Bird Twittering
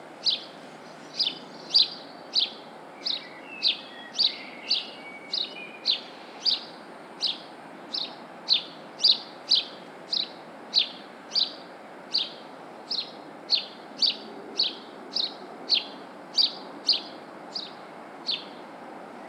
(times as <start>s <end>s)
1.1s 11.6s